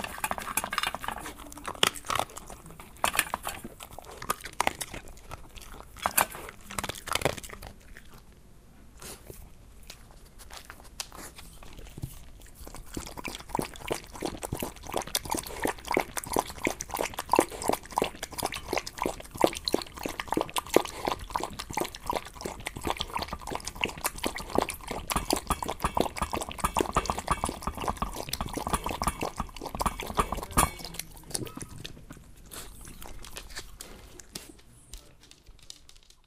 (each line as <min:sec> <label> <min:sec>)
0:00.0 eating and drinking dog 0:08.4
0:09.0 eating and drinking dog 0:36.2